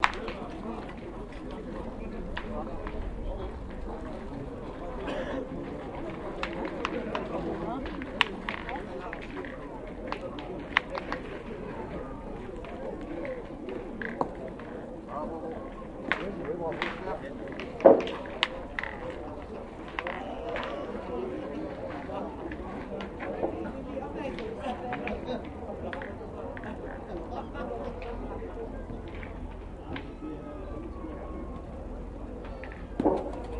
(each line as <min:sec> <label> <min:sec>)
0:00.0 competitive boules 0:11.7
0:00.0 speech 0:33.5
0:16.0 competitive boules 0:27.1
0:32.5 competitive boules 0:33.5